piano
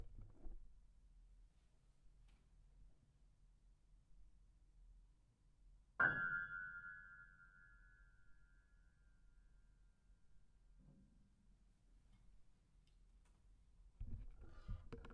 5.9 9.1

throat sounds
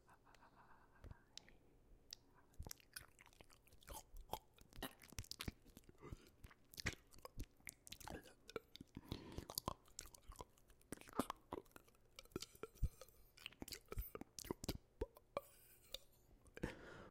3.8 17.1

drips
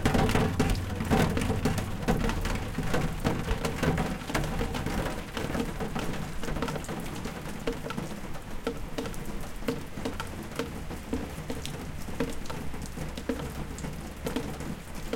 0.0 6.4

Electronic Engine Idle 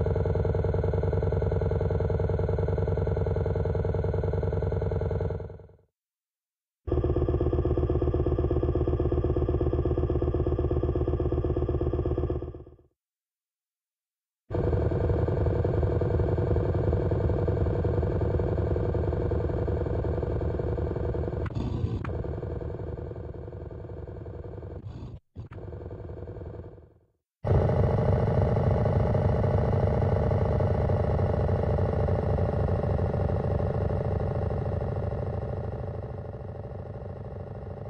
6.9 12.8, 14.5 37.8

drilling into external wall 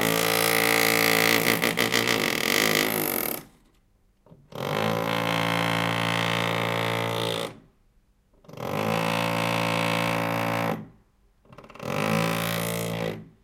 0.0 3.5, 4.5 7.6, 8.5 10.9, 11.6 13.3

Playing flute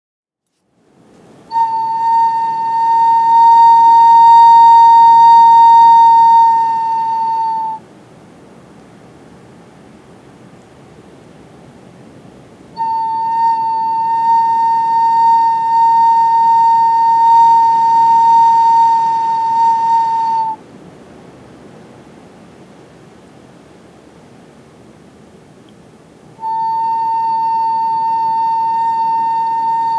1.5 7.8, 12.7 20.6, 26.4 29.9

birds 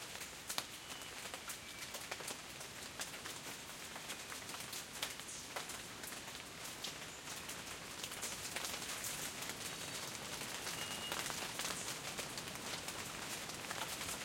9.8 12.1

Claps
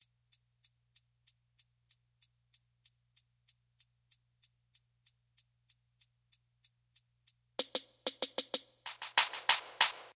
8.9 10.1

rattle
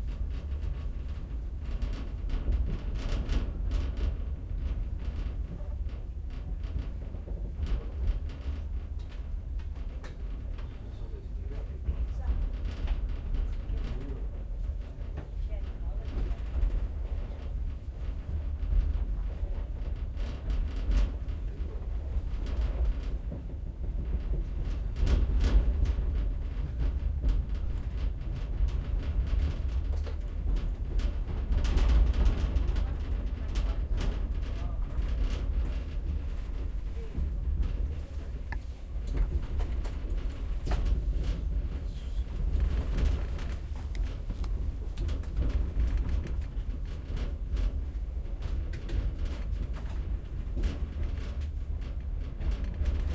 16.0 53.1

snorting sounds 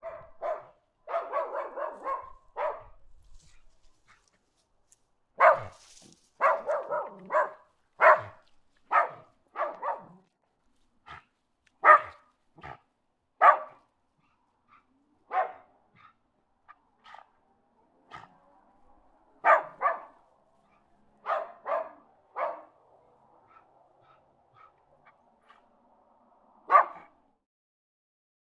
12.6 12.9

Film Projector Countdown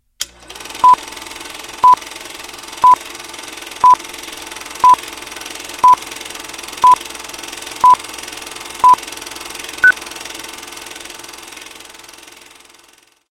0.2 2.0, 2.7 3.1, 3.8 4.0, 4.6 5.0, 5.8 6.1, 6.7 7.2, 7.8 8.1, 8.8 9.2

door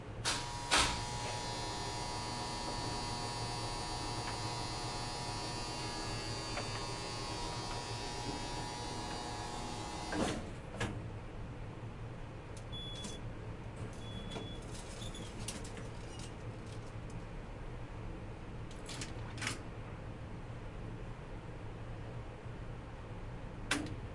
0.3 1.0, 10.1 11.0

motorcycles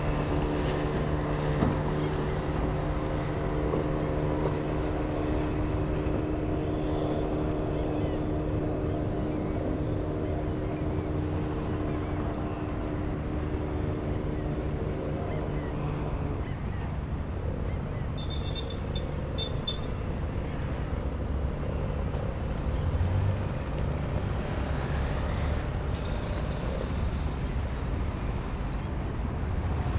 20.5 29.9

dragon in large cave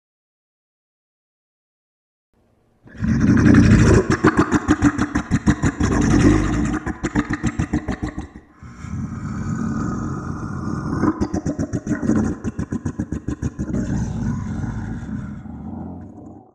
7.9 16.5

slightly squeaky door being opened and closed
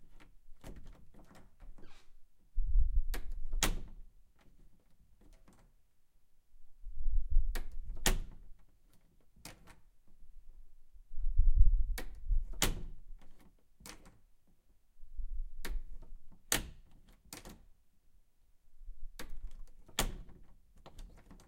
0.0 2.3

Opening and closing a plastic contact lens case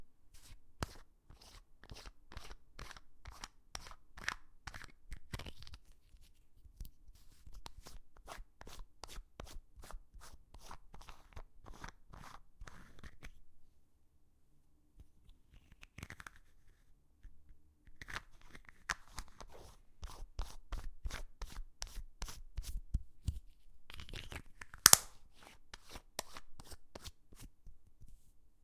15.4 16.8, 17.9 19.5, 23.9 25.3

